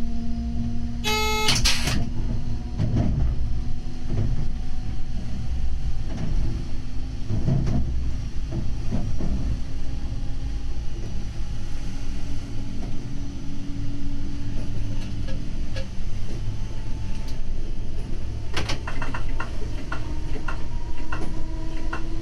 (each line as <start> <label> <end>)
0.0 electric railcar 22.2